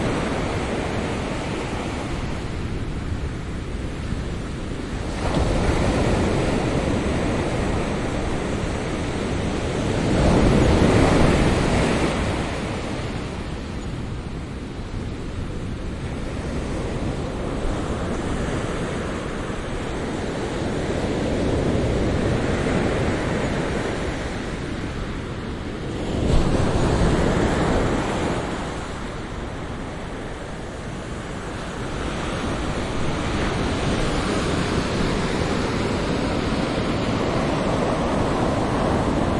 breaking waves 4.9 - 13.6
breaking waves 25.8 - 39.3

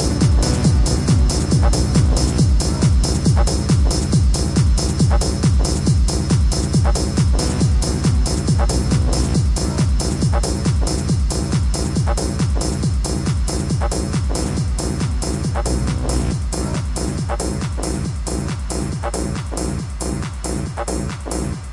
club music 0.0 - 21.7

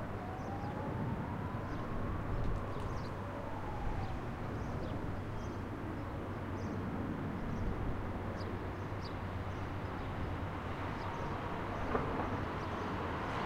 traffic 0.0 - 13.4
birds 1.6 - 3.3
train 9.2 - 13.4

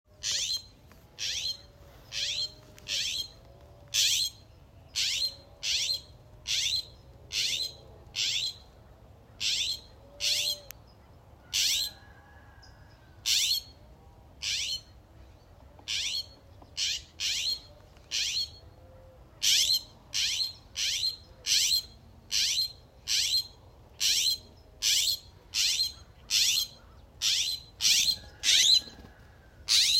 Blue jay 9.4 - 10.6
Blue jay 19.4 - 28.9
Blue jay 29.7 - 29.9

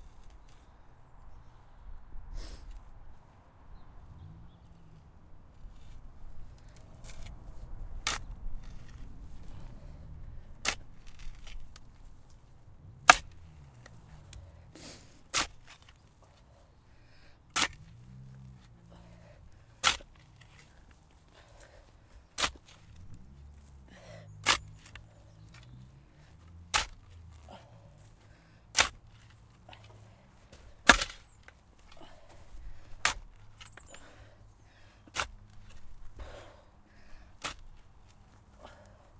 tiresome digging 0.0 - 39.1
heavy breathing 13.8 - 15.3
sniffling 14.5 - 15.3
heavy breathing 16.2 - 26.4
birds 23.9 - 26.3
heavy breathing 27.2 - 30.8
birds 29.8 - 37.3
heavy breathing 31.8 - 39.1

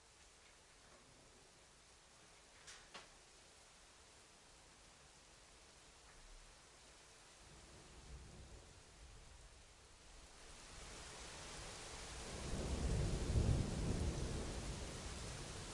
rain 0.0 - 15.7
thunder 12.2 - 15.7

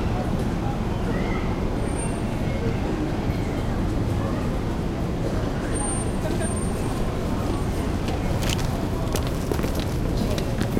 lots of people come in go 3.0 - 10.7

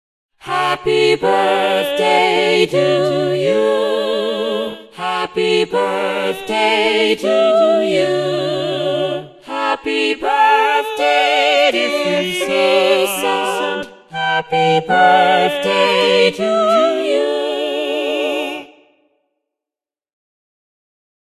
synthesized voices 0.5 - 18.7

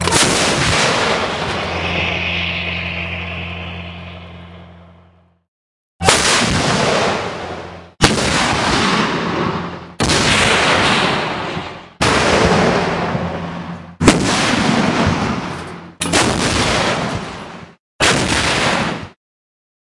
artillery firing projectiles 0.0 - 2.3
explosions 0.0 - 5.0
tank 0.0 - 5.4
artillery firing projectiles 6.0 - 19.2
explosions 6.0 - 19.2

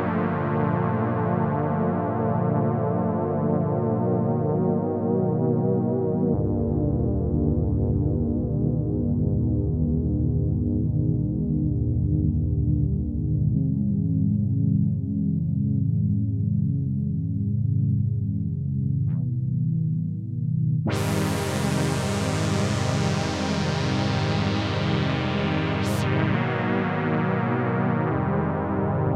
chords played on the unearthly Oberheim OB-8 analogue synthesizer 0.0 - 29.1

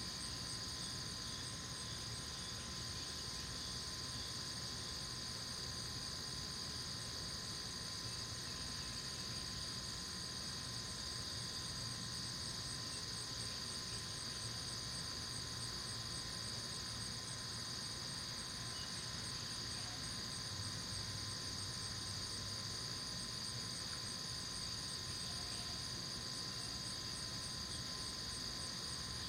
Insects 0.0 - 29.2

